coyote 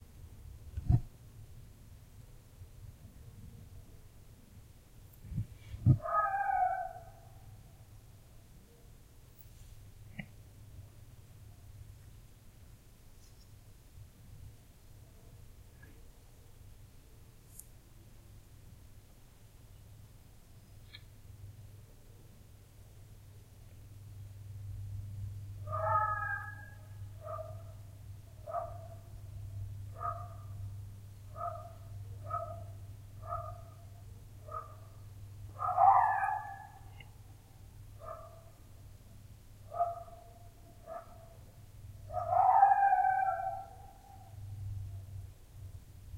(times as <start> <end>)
5.0 11.0, 25.6 38.8, 39.6 45.2